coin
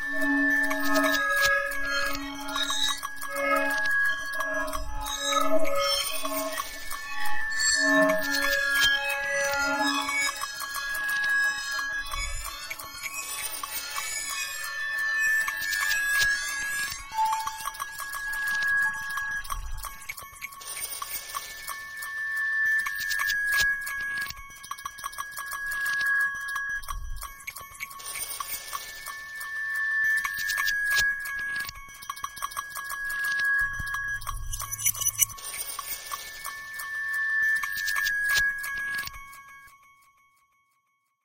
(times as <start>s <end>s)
20.1s 22.0s, 27.4s 29.4s, 30.2s 36.9s, 37.5s 39.4s